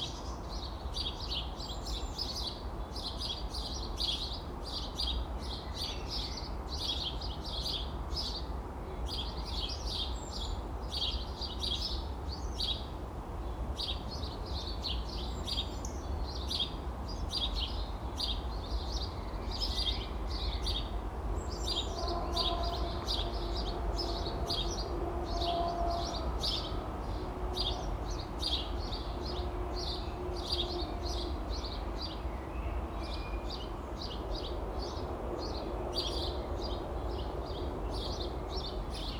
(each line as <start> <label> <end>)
13.8 Sparrows chirp 39.1